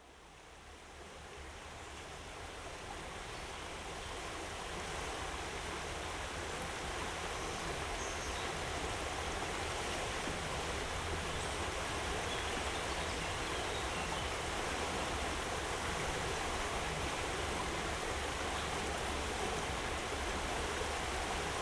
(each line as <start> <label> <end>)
0.0 river 21.6